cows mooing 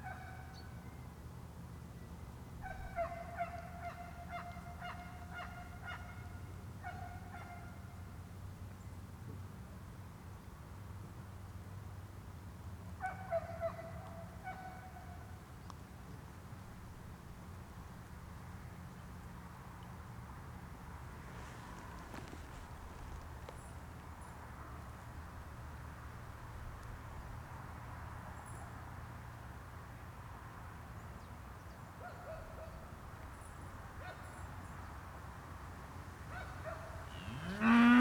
37.1 38.0

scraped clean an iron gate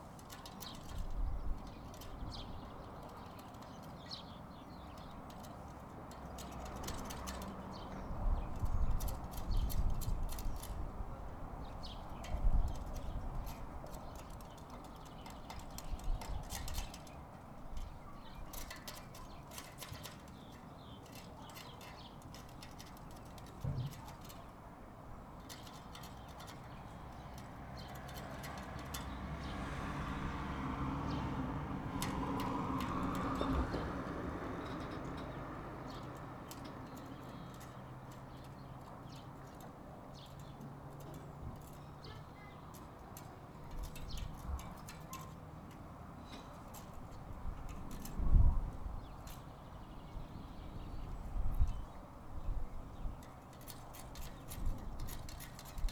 11.8 50.1, 53.0 55.9

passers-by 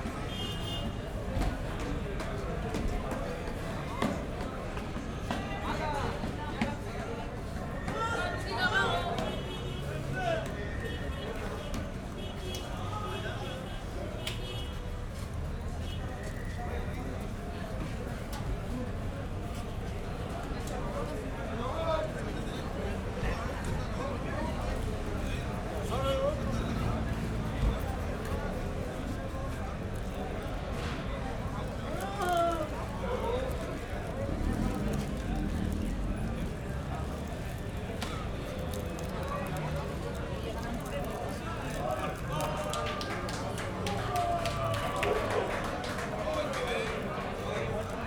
15.1 48.0

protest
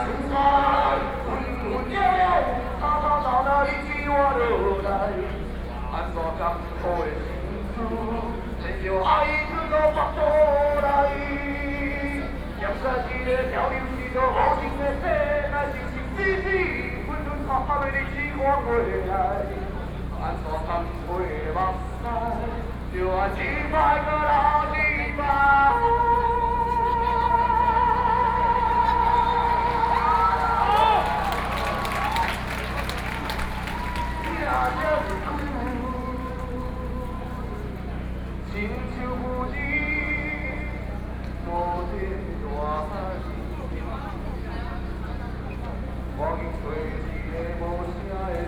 27.4 36.0

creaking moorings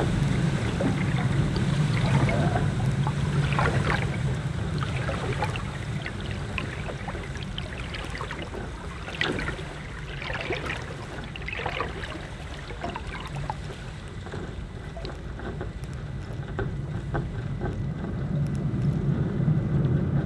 0.0 13.9

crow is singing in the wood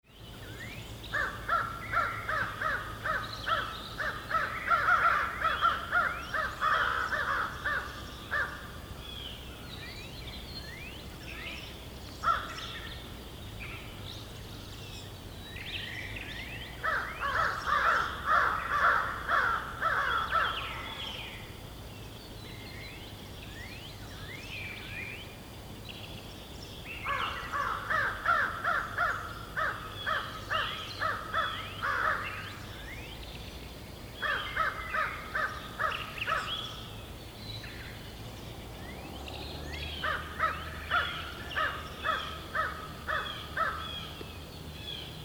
0.7 9.0, 12.2 13.1, 16.5 21.5, 27.0 33.2, 34.2 37.2, 39.8 45.2

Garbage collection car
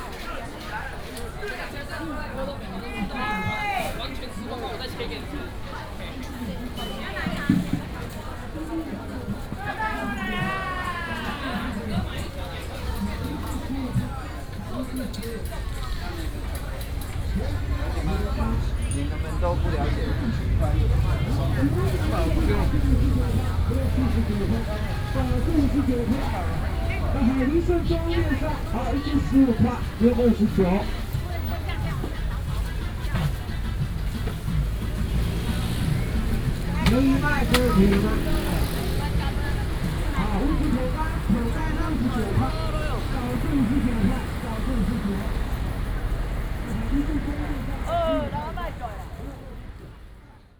14.7 47.5

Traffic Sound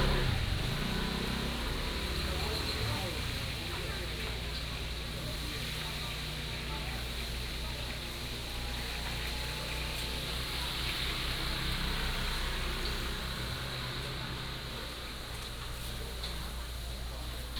0.0 5.1, 9.2 17.5

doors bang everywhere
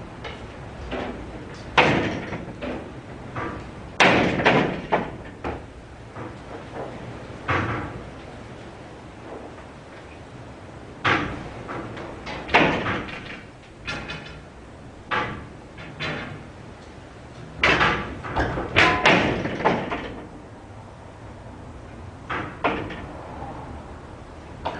0.0 8.2, 10.9 20.5, 22.2 23.5

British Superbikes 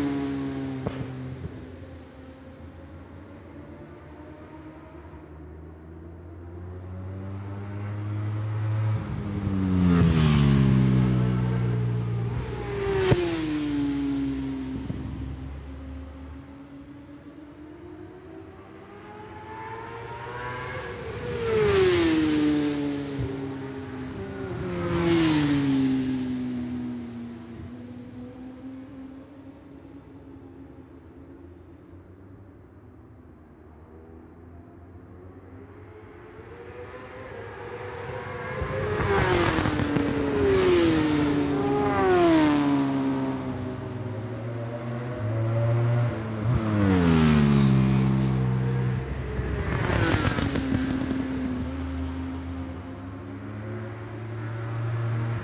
34.8 55.3

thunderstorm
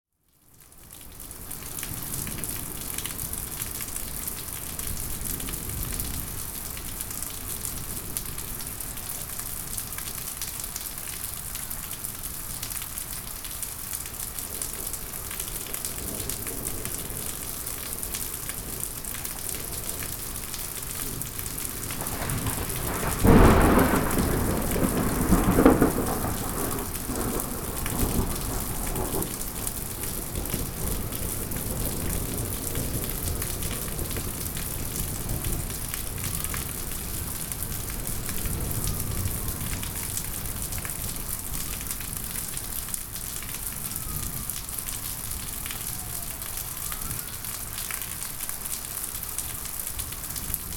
14.4 42.3

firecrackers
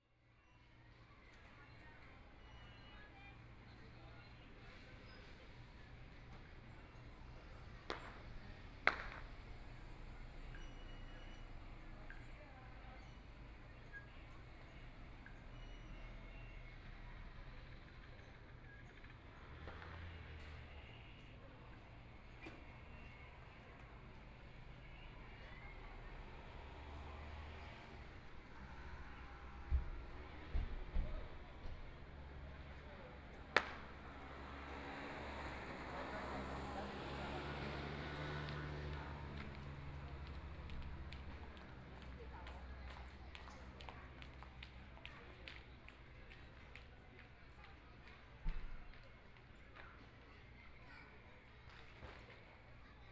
7.6 10.6, 19.0 20.7, 33.4 35.5, 51.7 52.4

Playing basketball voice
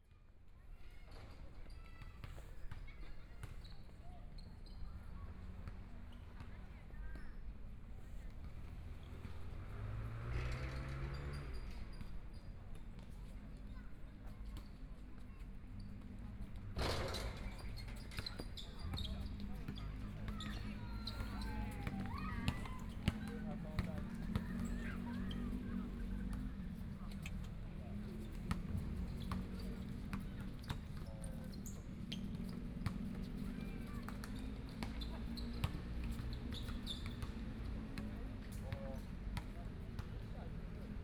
16.8 33.2

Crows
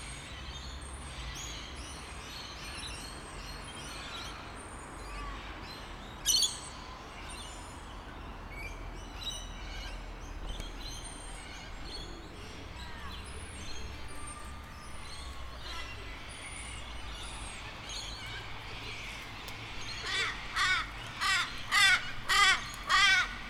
19.9 23.4

